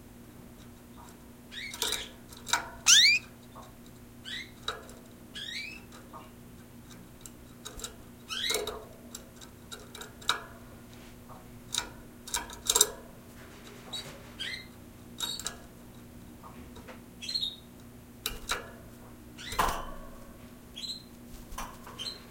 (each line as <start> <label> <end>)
1.5 canary 2.2
2.9 canary 3.3
4.2 canary 4.6
5.3 canary 5.9
8.3 canary 8.6
13.9 canary 15.5
17.2 canary 17.6
19.4 canary 19.7
20.8 canary 21.1